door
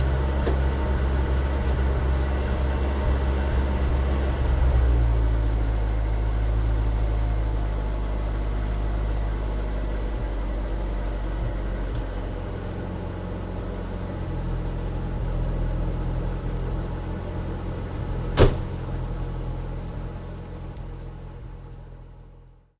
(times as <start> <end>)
18.4 18.8